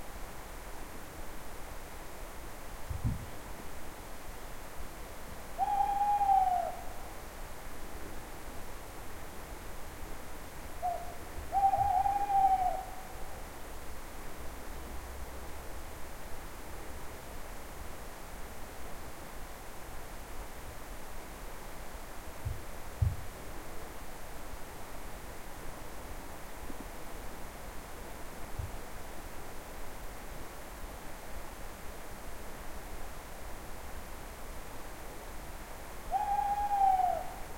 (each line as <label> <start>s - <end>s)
owl 5.6s - 7.0s
owl 10.8s - 13.3s
owl 36.1s - 37.5s